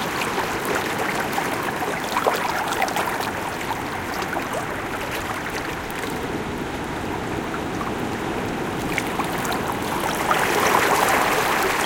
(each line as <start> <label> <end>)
0.0 rumble of ocean waves 11.8
0.0 water reflow among rocks 11.8